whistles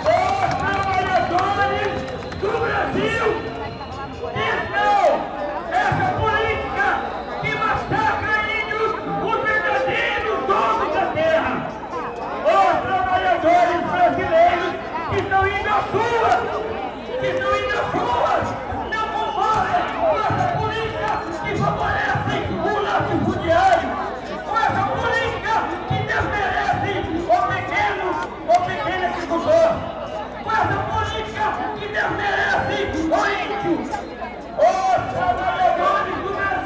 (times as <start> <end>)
0.3 5.4, 6.3 9.0